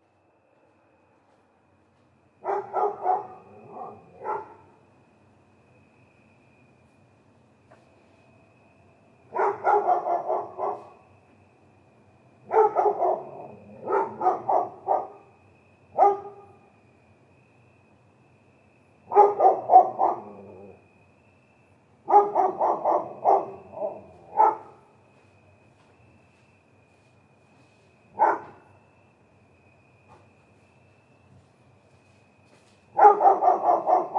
cricket 0:00.0 - 0:34.1
traffic 0:00.0 - 0:34.1
Dog bark 0:02.4 - 0:04.8
Dog bark 0:09.3 - 0:11.0
Dog bark 0:12.4 - 0:15.3
Dog bark 0:15.9 - 0:16.6
Dog bark 0:19.1 - 0:20.7
Dog bark 0:22.1 - 0:24.8
Dog bark 0:28.2 - 0:28.6
Dog bark 0:32.9 - 0:34.1

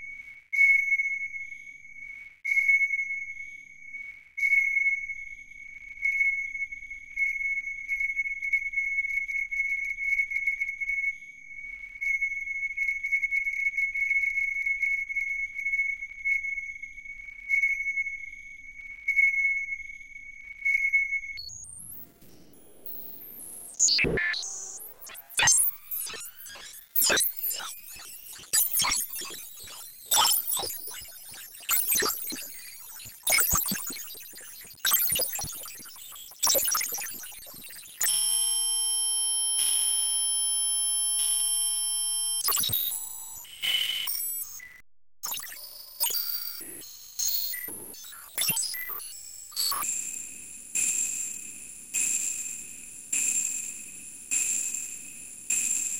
granular synthesis sampling instrument 0:21.4 - 0:39.5

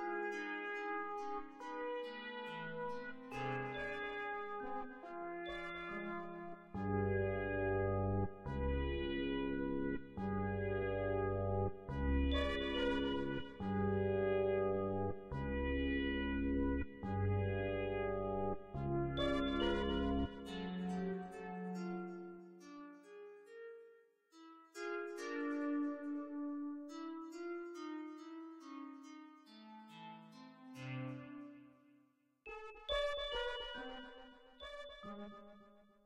Yamaha keyboard 0:00.0 - 0:23.7
Yamaha keyboard 0:32.5 - 0:35.5

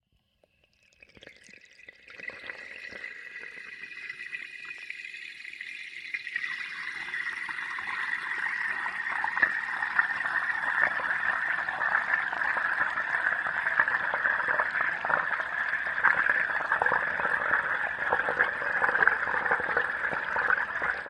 empty sink fill with water washbasin faucet 0:00.4 - 0:21.0

